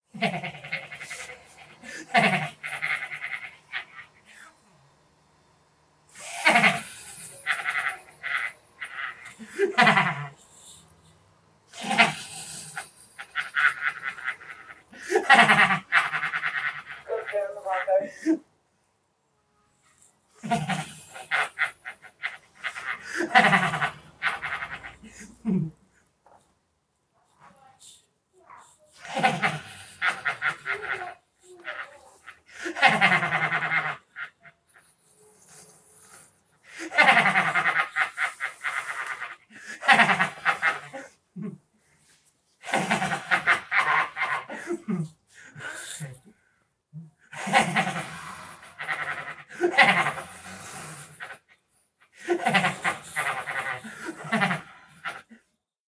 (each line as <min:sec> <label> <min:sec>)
0:00.1 Laughing 0:04.6
0:06.1 Laughing 0:11.0
0:11.7 Laughing 0:18.5
0:20.3 Laughing 0:26.5
0:27.4 Laughing 0:46.4
0:47.0 Laughing 0:55.6